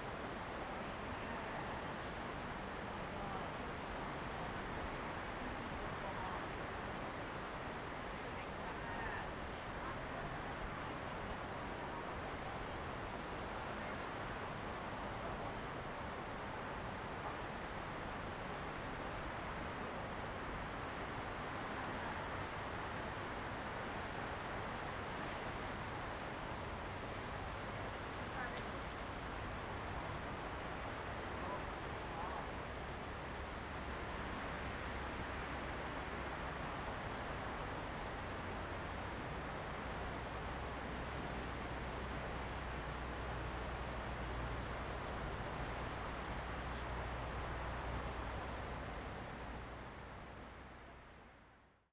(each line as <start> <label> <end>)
18.3 Forest and Wind 51.5